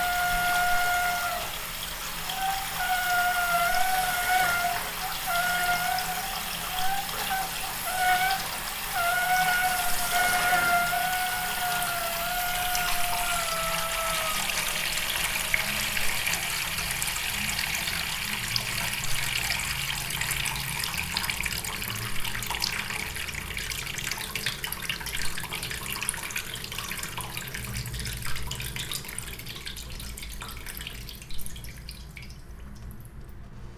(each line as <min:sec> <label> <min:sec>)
0:00.0 Moaning in the bathroom 0:15.2